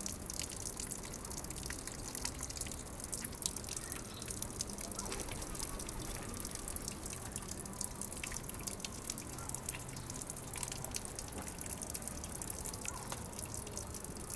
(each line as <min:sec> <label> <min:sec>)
0:00.0 fountain 0:14.3